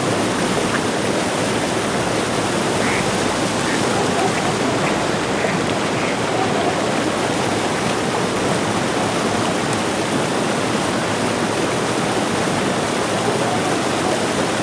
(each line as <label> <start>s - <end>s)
cars passing by on the riverside roads 0.0s - 14.6s
water rushing down the dam wall as a small water fall 0.0s - 14.6s
group of ducks 0.3s - 8.6s
dog barking in the more far distance 3.6s - 7.0s
dog barking in the more far distance 13.2s - 14.6s